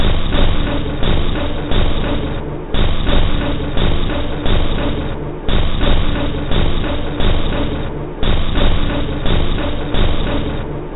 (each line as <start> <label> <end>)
0.0 Drum Loop 10.9